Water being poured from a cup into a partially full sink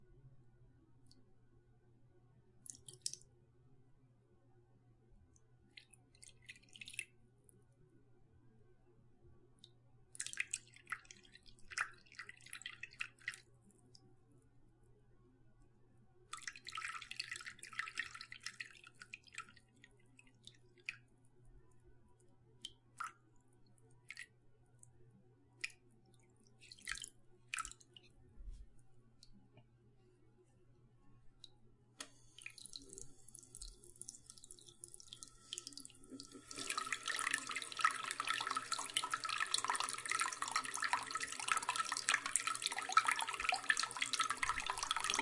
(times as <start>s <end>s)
5.8s 7.1s, 10.2s 13.4s, 16.3s 21.0s, 32.2s 45.2s